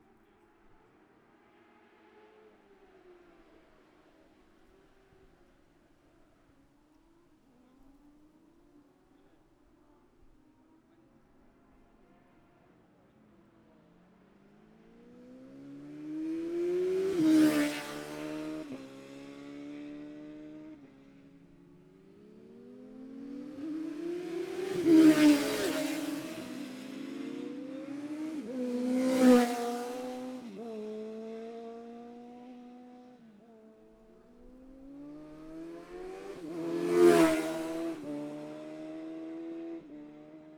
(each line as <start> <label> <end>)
0.0 classic superbikes 40.5